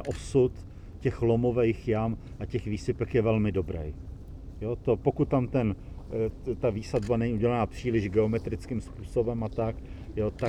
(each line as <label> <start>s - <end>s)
Václav Cílek mluví 4.7s - 10.4s
words of Václav Cílek 10.2s - 10.4s